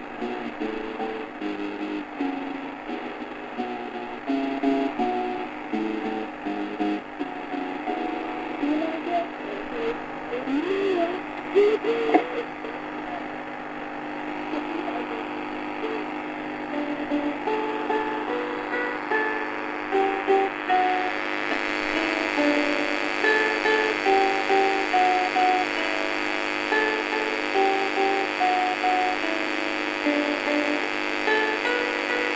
old Amstrad tape recorder playing a broken tape 0:00.0 - 0:32.3
strange guitar 0:00.0 - 0:32.3
Warped Talking 0:08.6 - 0:13.7
Warped Talking 0:14.3 - 0:16.2

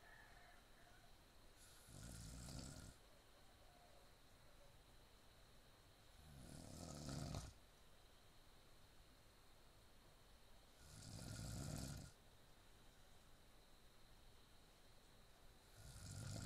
snoring 0:01.6 - 0:03.0
snoring 0:06.2 - 0:07.6
snoring 0:10.8 - 0:12.2
snoring 0:15.7 - 0:16.4

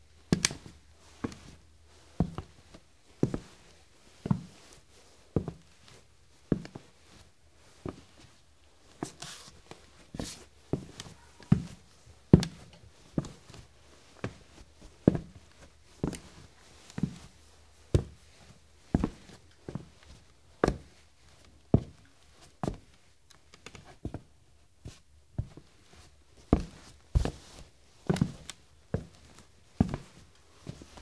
Cowboy boots walking on hardwood floor 0:02.2 - 0:03.6
Cowboy boots walking on hardwood floor 0:05.4 - 0:07.2
Cowboy boots walking on hardwood floor 0:08.9 - 0:23.0
Cowboy boots walking on hardwood floor 0:23.7 - 0:31.0

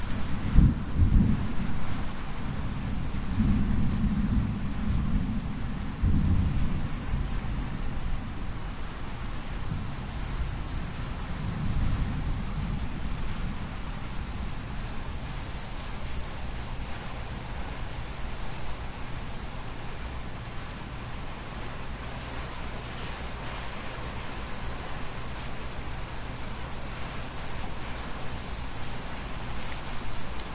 rain 0:00.0 - 0:30.5
wind 0:00.0 - 0:30.5
thunder 0:00.3 - 0:01.9
thunder 0:02.5 - 0:07.7
thunder 0:11.4 - 0:13.8

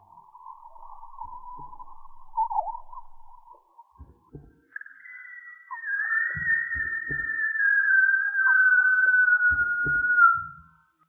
scream 0:05.0 - 0:10.6

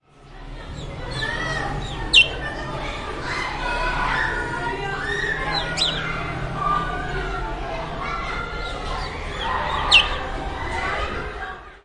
cars 0:00.0 - 0:11.8
bird 0:00.7 - 0:02.7
bird 0:05.0 - 0:06.3
bird 0:08.1 - 0:10.8

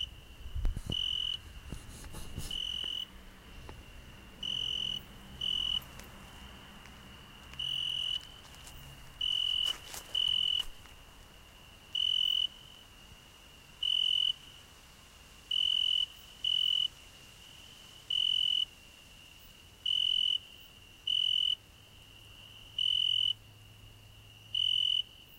crickets 0:00.0 - 0:25.3

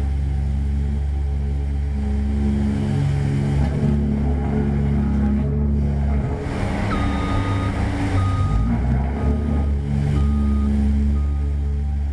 Small paving roller, making a magnificent low roar 0:00.0 - 0:12.1
reverse-warning beep 0:06.8 - 0:11.6

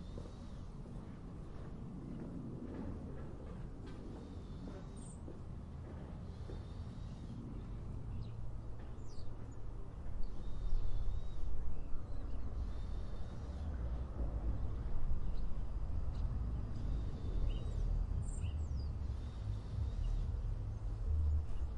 low level construction sounds 0:00.0 - 0:11.2
airplane noise 0:00.0 - 0:21.7
distant traffic 0:00.0 - 0:21.7
footstep sounds 0:00.0 - 0:06.8
birds 0:04.1 - 0:21.7

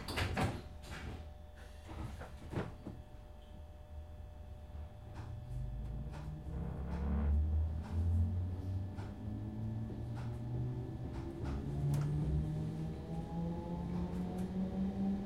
Train - Interior - Slow Down & Stop 0:00.0 - 0:15.2
Doors 0:05.1 - 0:15.2

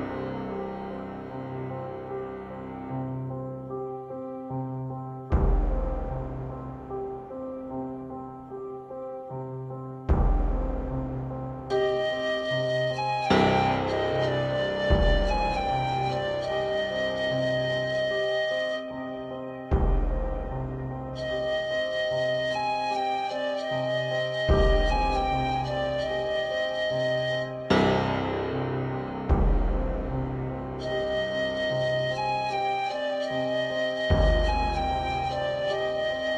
Dulcet flute 0:00.0 - 0:36.3
piano 0:00.0 - 0:36.3

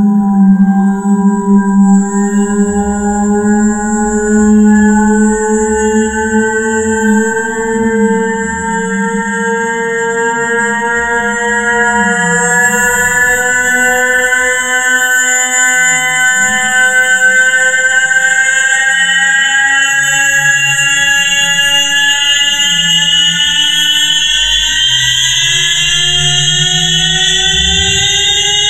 coming and going of a military romulan space-ship 0:00.0 - 0:11.2
coming and going of a military romulan space-ship 0:23.9 - 0:28.6

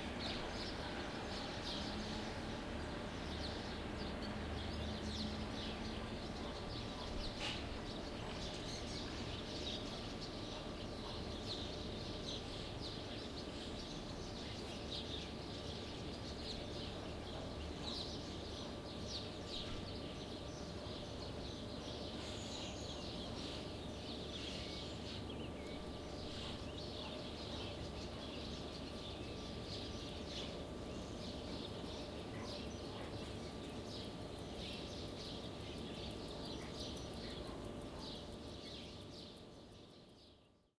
traffic 0:00.0 - 0:06.4
birds 0:00.0 - 0:40.7

